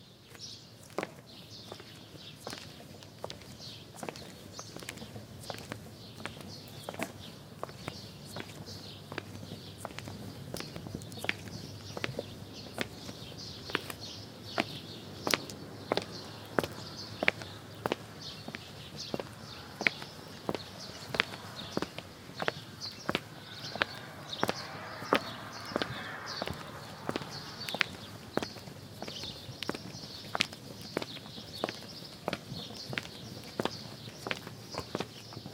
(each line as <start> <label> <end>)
0.1 steps on stone ground 35.5
0.3 bird 35.5